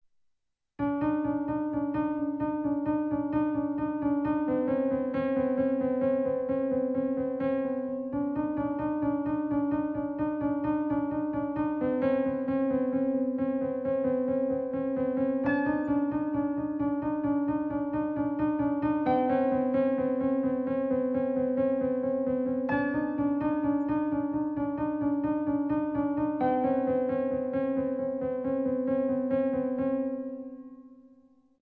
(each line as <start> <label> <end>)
0.8 piano song 31.0